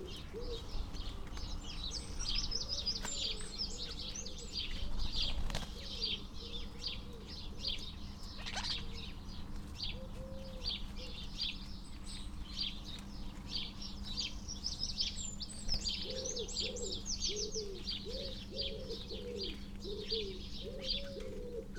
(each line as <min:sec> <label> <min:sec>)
0:00.0 wood pigeon 0:14.4
0:00.0 background noise from traffic 0:21.7
0:00.0 collared dove 0:21.7
0:00.0 dry rolling and rippling calls and song from the starlings 0:21.7
0:15.6 wood pigeon 0:21.7